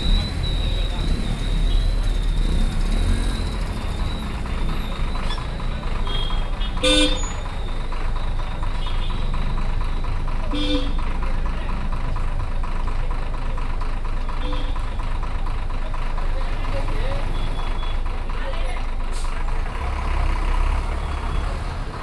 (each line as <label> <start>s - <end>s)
bus 0.0s - 22.0s
rickshaw 0.0s - 22.0s
road traffic 0.0s - 22.0s